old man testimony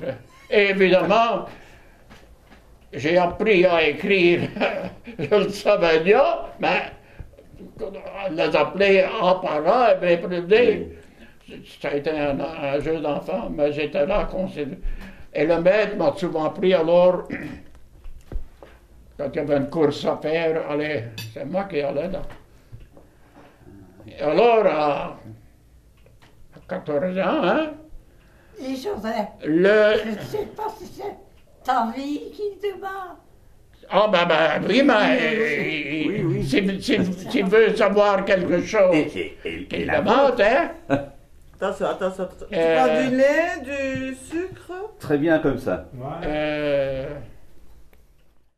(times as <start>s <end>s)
0.0s 2.0s, 2.9s 17.7s, 23.6s 25.5s, 33.8s 41.0s, 42.5s 44.3s